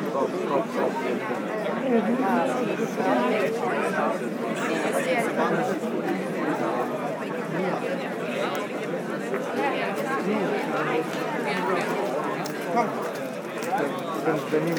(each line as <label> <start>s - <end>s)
People discussing 7.5s - 14.7s